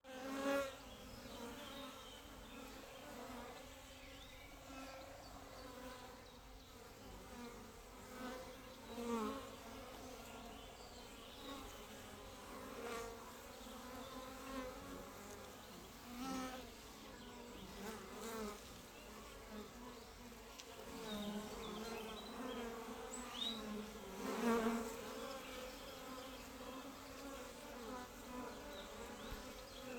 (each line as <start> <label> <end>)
17.5 ANMLInsc Bees Close 29.9